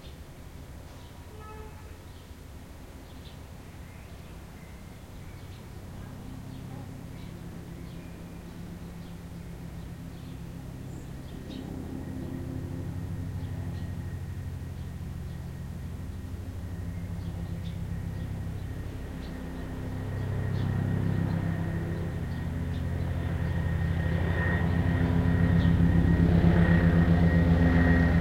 0.0s helicopter passes above my house 28.2s
0.1s street noise 28.2s

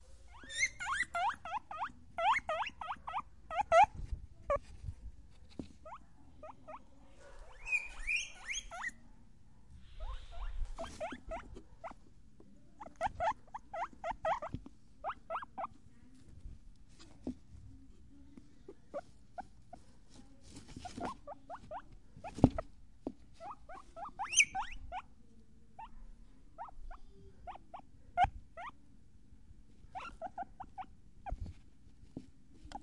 0.0s Guinea pig 9.1s
9.7s Guinea pig 28.8s
29.7s Guinea pig 32.8s

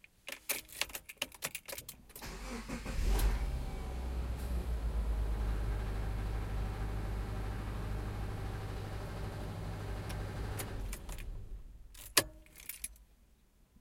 2.2s car engine turning on and off 11.9s

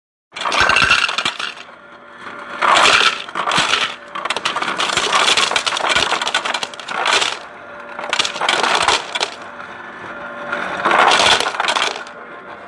0.4s Ice being dispensed from a fridge 1.6s
2.6s Ice being dispensed from a fridge 7.4s
8.0s Ice being dispensed from a fridge 9.4s
10.8s Ice being dispensed from a fridge 12.1s

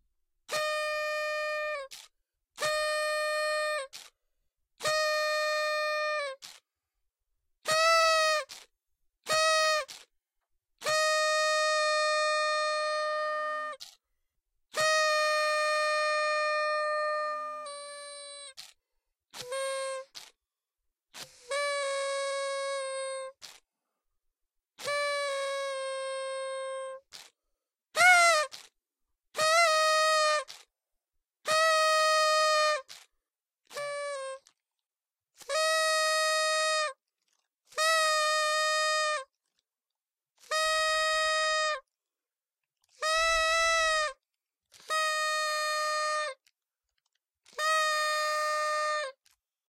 0.5s party horn 4.2s
4.8s party horn 6.6s
7.6s party horn 10.1s
10.8s party horn 14.0s
14.7s party horn 20.4s
21.1s party horn 23.6s
24.8s party horn 30.7s
31.4s party horn 34.6s
35.4s party horn 37.0s
37.7s party horn 39.4s
40.4s party horn 41.9s
42.9s party horn 46.5s
47.4s party horn 49.4s

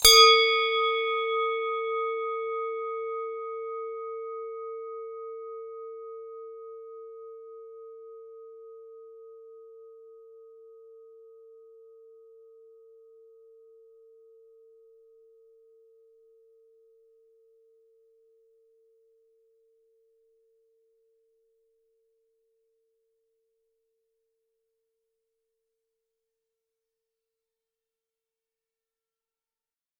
0.0s Swiss cowbell 6.9s

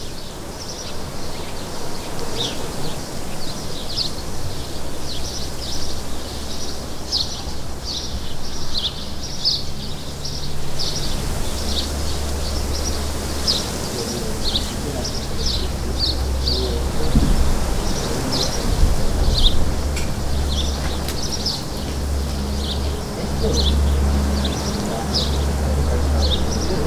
0.0s lots of birds 26.8s

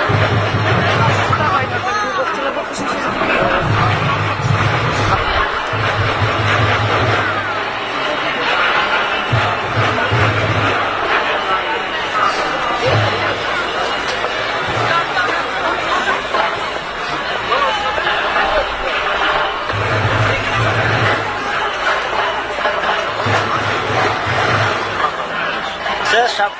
0.0s bass drum 7.5s
0.0s crowd 26.5s

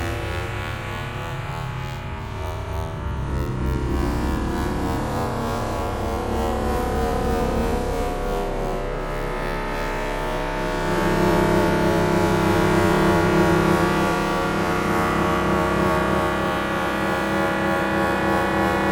3.2s ambient drone washes 18.9s

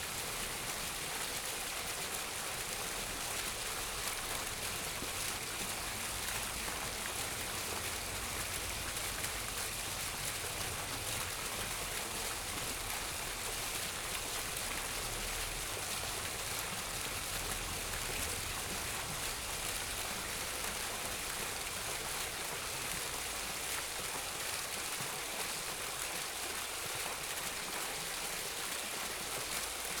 0.0s Fountain 30.0s

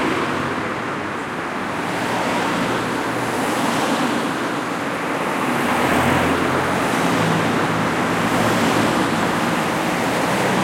0.0s cars drive past 10.6s

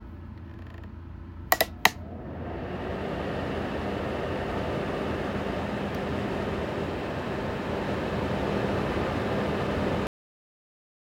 1.5s heater turn on 10.1s

